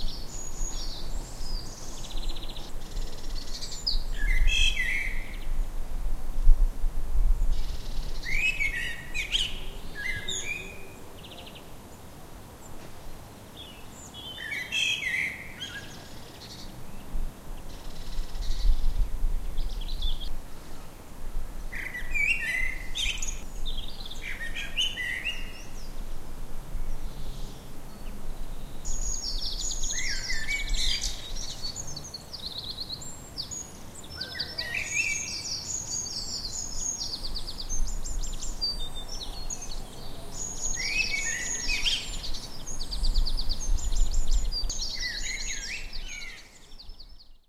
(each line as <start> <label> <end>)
0.0 blackbird 5.5
7.5 blackbird 11.7
21.7 blackbird 26.0
27.0 blackbird 47.4